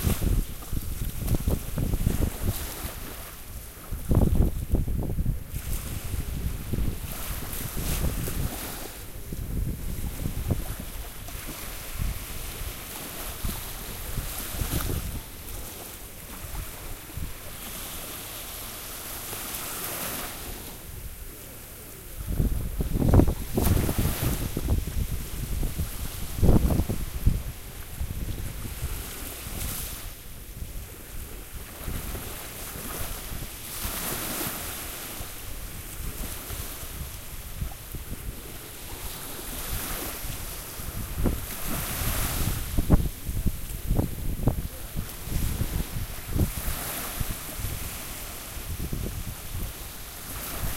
0.0s waves 50.7s
0.0s wind 50.7s

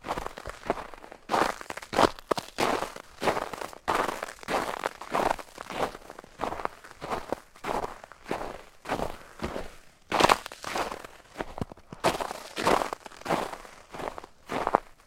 0.0s Walking in a couple inches of snow that covers gravel 15.0s

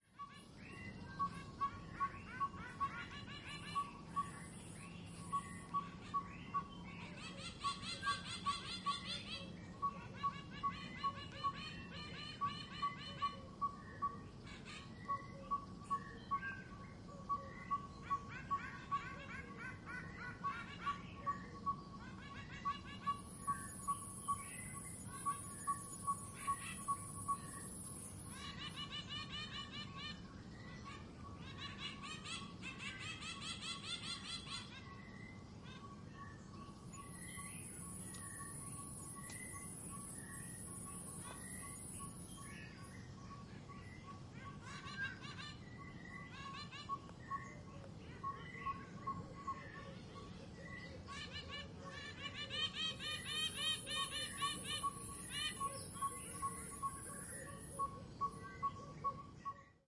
0.0s birdsong 59.8s

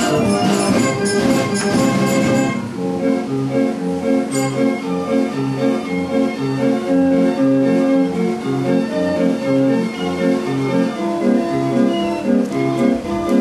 0.0s Carousel / Merry-Go-Round 13.4s
0.0s organ 13.4s

